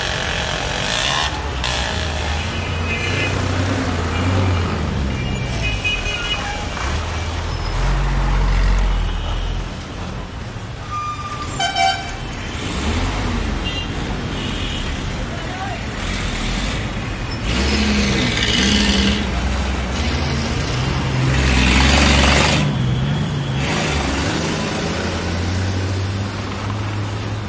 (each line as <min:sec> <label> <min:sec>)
0:00.0 motorcycles 0:04.7
0:00.0 cars 0:27.4
0:00.0 trucks 0:27.4
0:15.1 motorcycles 0:27.4